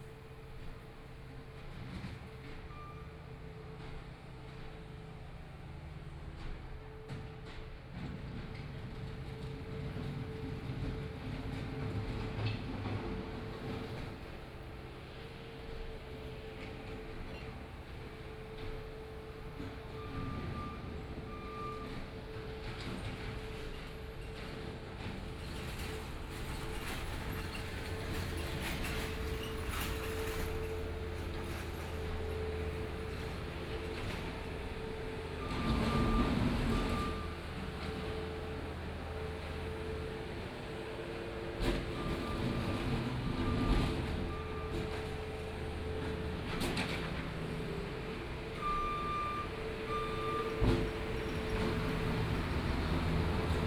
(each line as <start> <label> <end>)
0.0 Road construction noise 53.6